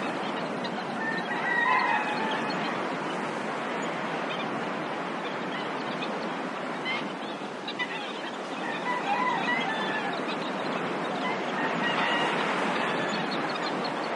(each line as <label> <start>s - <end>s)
wind noise 0.0s - 14.1s
cockerel crowing 1.0s - 2.5s
cockerel crowing 8.6s - 10.3s